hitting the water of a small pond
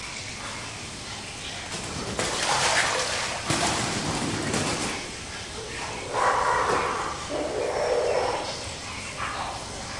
1.7 5.2

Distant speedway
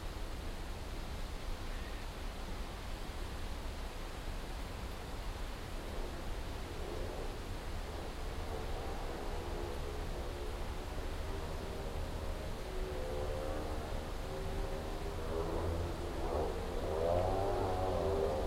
6.8 18.4

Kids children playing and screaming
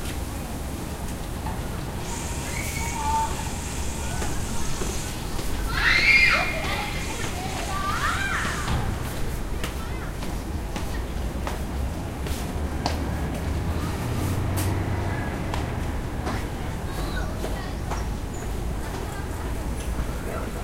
2.0 10.2, 16.2 19.8

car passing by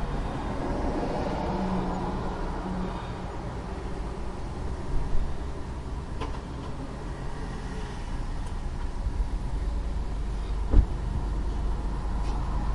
0.0 3.3

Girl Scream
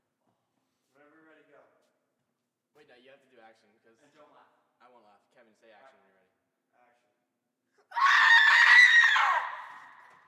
7.9 10.1

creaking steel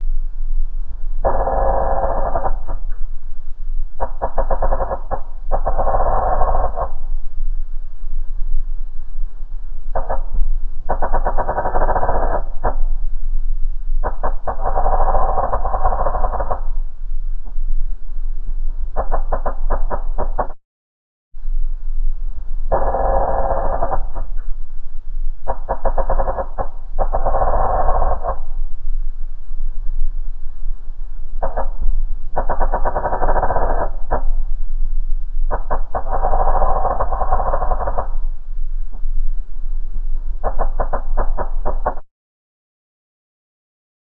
4.0 7.1, 10.0 12.9, 22.7 24.5, 25.5 28.6, 35.5 38.4

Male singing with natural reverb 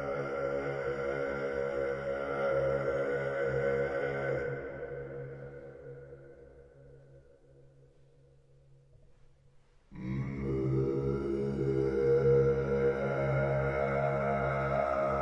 0.0 6.7, 9.9 15.2

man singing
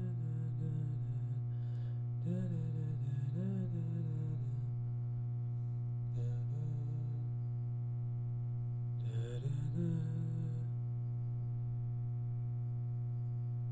0.0 1.4, 2.2 4.6, 6.2 7.2, 9.1 10.7

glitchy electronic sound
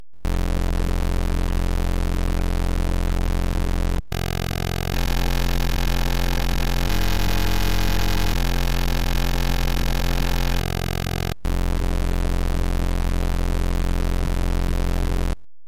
3.2 15.4

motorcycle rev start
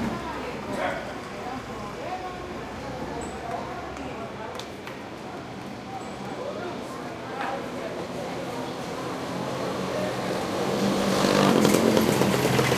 10.8 12.7

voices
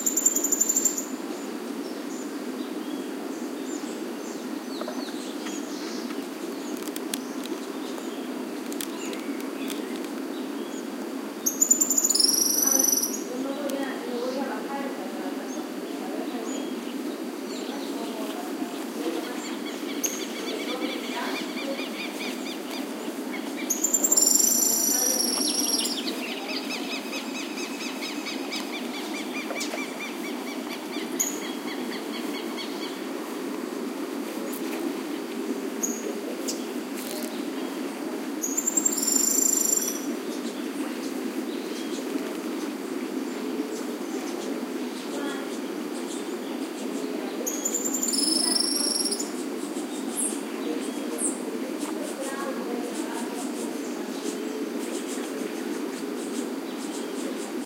11.9 39.9, 43.6 57.6

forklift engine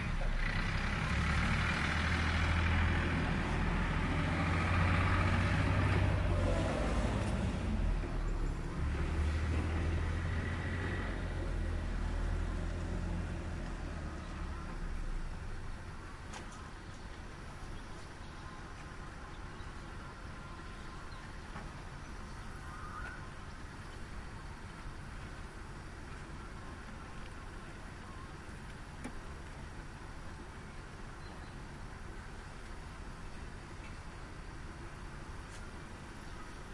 0.0 17.6

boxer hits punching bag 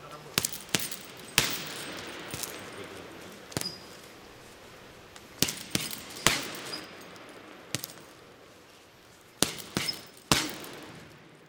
0.4 4.0, 5.3 8.3, 9.4 11.2

